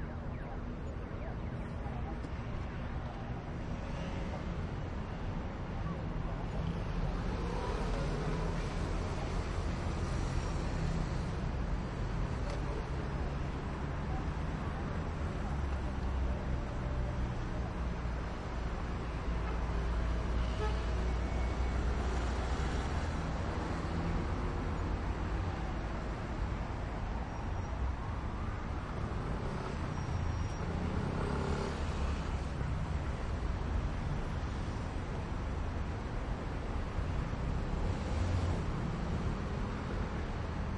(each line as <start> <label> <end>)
0.0 siren 2.3
0.0 quiet pedestrians 20.4
0.0 medium velocity cars 40.7
29.0 motorcycle 32.8